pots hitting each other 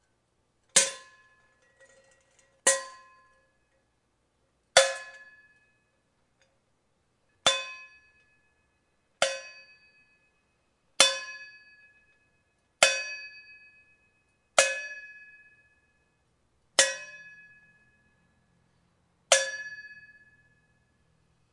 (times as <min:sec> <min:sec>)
0:00.8 0:03.1